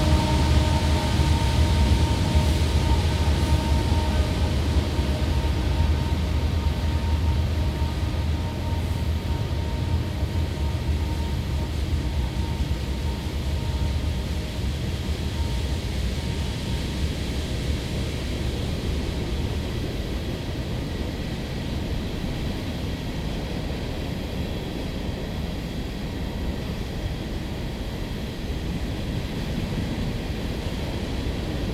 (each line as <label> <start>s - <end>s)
freight train passing in the woods 0.0s - 31.7s